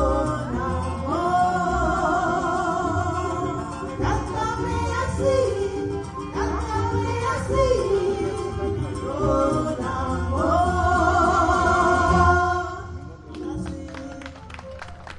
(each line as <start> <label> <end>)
0.0 singing 14.5
0.0 Campursari Music 15.1
0.0 strings 15.1